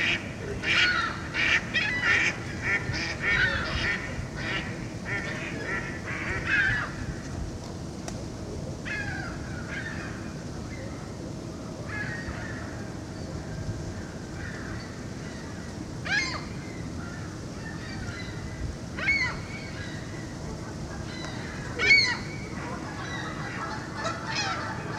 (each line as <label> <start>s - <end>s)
Canada goose 0.0s - 7.0s
ducks 0.0s - 7.0s
gulls 0.0s - 7.1s
ducks 19.0s - 24.9s
gulls 20.8s - 24.9s
Canada goose 21.0s - 24.9s